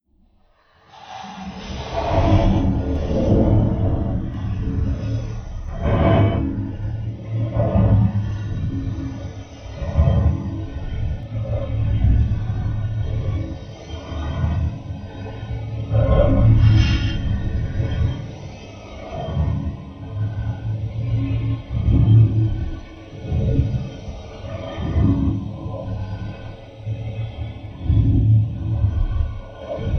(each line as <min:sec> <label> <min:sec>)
0:01.1 Magnetic Force Field 0:18.4